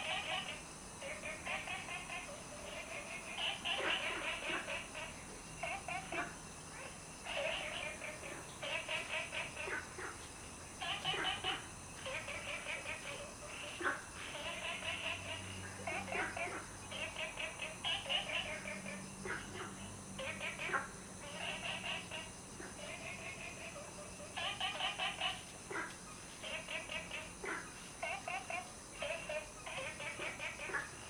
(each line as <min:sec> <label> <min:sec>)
0:00.0 Frogs chirping 0:31.0